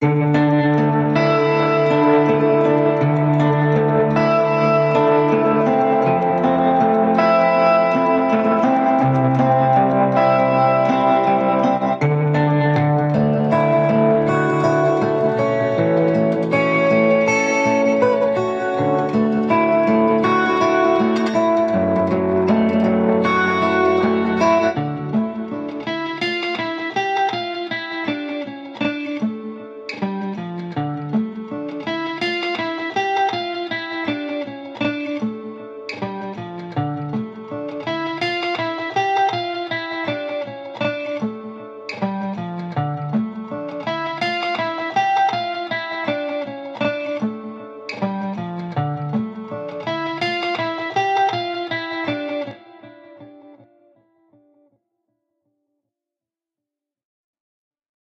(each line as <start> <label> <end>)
0.9 song 26.9